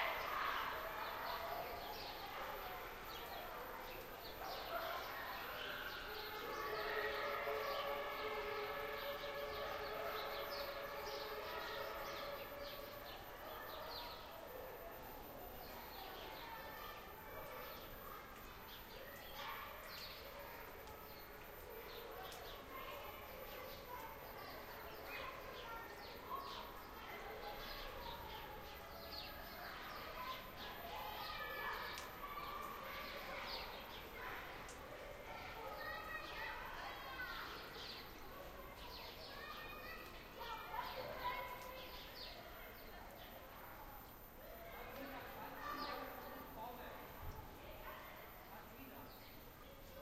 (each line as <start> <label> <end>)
0.0 Kids playing 48.4
15.6 birds 43.3